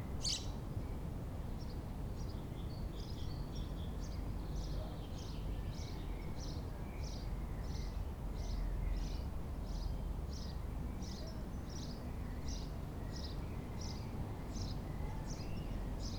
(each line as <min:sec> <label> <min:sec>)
0:00.2 birds 0:00.5